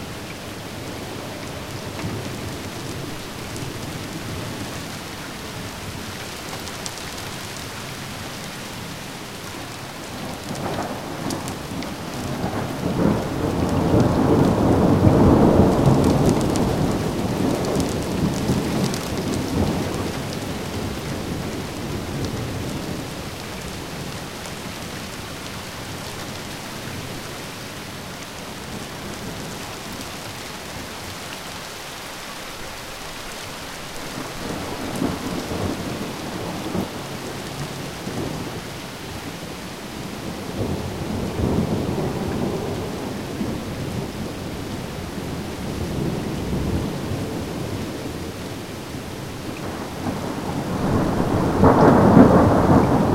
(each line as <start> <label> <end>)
0.0 rain 53.1
10.3 thunder 23.1
40.0 thunder 44.3
49.5 thunder 53.1